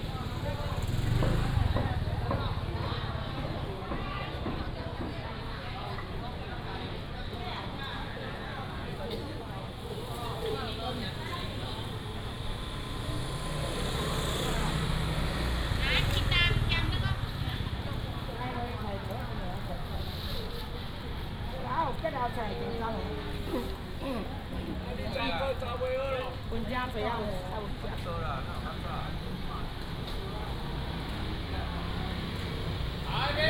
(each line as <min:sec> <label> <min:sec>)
0:00.0 Vendors 0:04.6
0:00.0 motorcycle 0:05.5
0:00.0 Traffic sound 0:33.4
0:00.0 Walking in the market 0:33.4
0:08.7 motorcycle 0:33.4
0:09.8 Vendors 0:19.2